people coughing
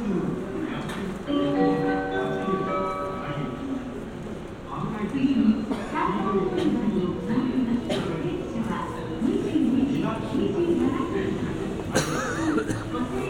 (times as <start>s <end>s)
5.7s 7.1s, 7.7s 8.4s, 11.8s 13.2s